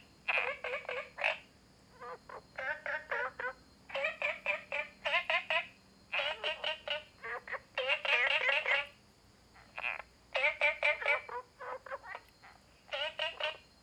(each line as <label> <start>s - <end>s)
Frogs chirping 0.0s - 13.8s